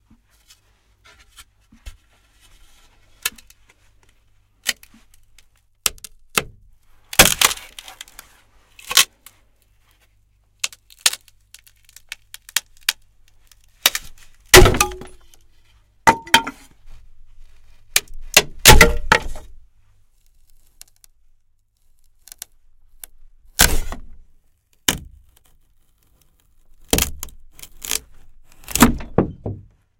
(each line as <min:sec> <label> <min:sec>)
0:03.2 Tearing pieces of wood 0:09.7
0:10.6 Tearing pieces of wood 0:15.5
0:17.5 Tearing pieces of wood 0:21.2
0:21.8 Tearing pieces of wood 0:29.3